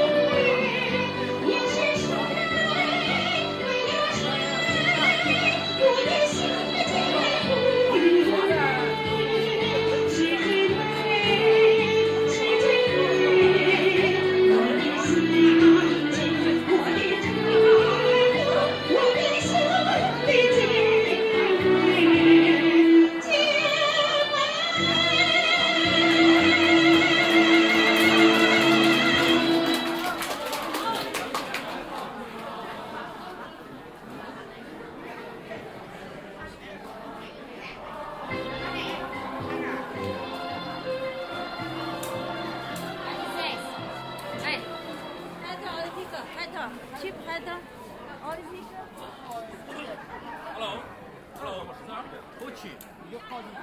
groups sing in chorus acoustic 0:00.0 - 0:30.2
ensembles of amateur musicians performing 0:00.0 - 0:33.3
groups sing in chorus acoustic 0:36.8 - 0:45.8
ensembles of amateur musicians performing 0:37.8 - 0:49.5

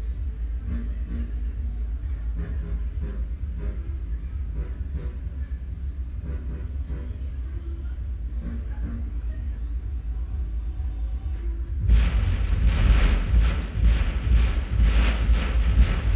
resonating metalplate 0:11.8 - 0:16.1

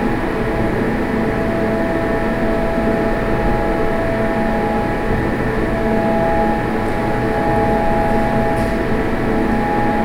air conditioning 0:00.0 - 0:10.0

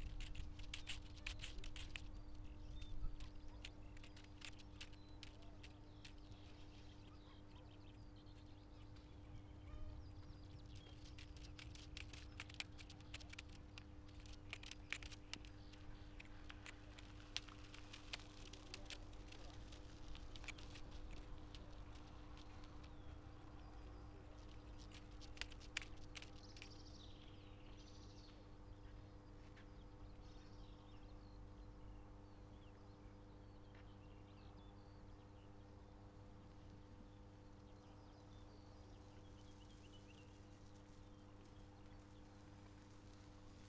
voices of the sunday strollers 0:02.1 - 0:26.9

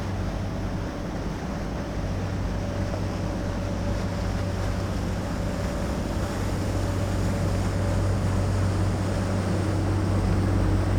modern cargo ship with its turbine engine passes by 0:00.0 - 0:10.9

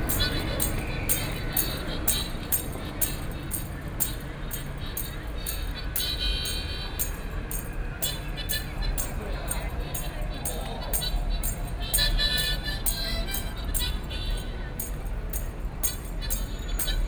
Traffic Sound 0:00.0 - 0:17.0

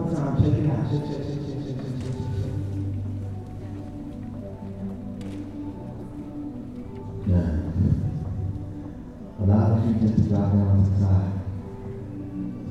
yoga class 0:00.0 - 0:12.7

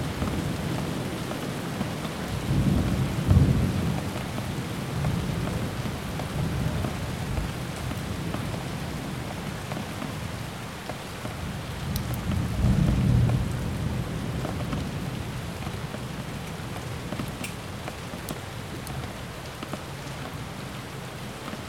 thunderstorm 0:00.0 - 0:08.6
Rain 0:00.0 - 0:21.6
thunderstorm 0:11.7 - 0:17.3

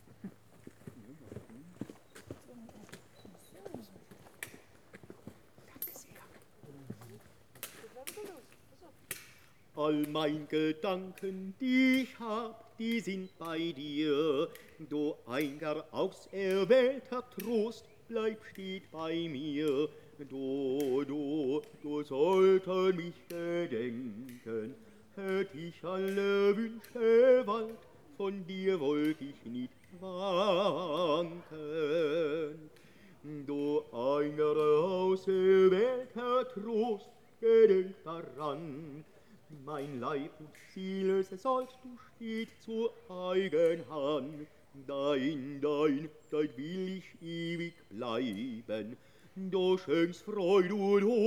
walkers and wanderes passing by 0:00.0 - 0:33.8
singer in the forest 0:00.0 - 0:51.2

